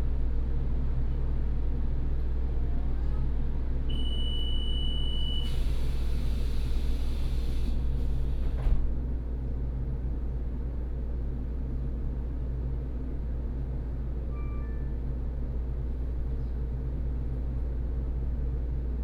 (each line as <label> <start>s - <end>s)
railway carriage 5.0s - 8.8s